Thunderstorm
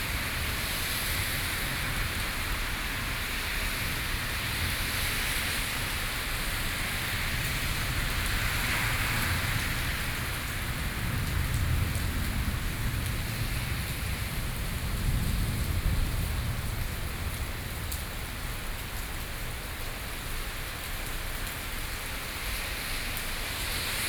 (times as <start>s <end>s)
7.0s 18.8s